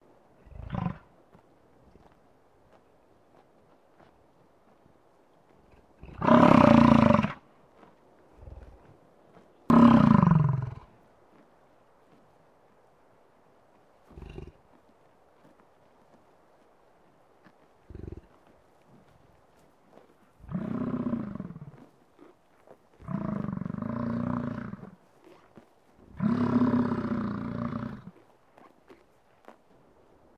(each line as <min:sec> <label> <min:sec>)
0:18.2 bison browsing on grasses 0:30.1
0:20.4 Bison bellowing 0:21.8
0:23.0 Bison bellowing 0:24.9
0:26.1 Bison bellowing 0:28.2